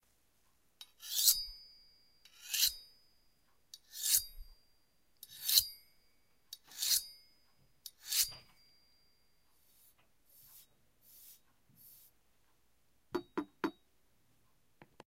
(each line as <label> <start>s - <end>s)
rubbing a fork on a butcher knife 9.5s - 12.2s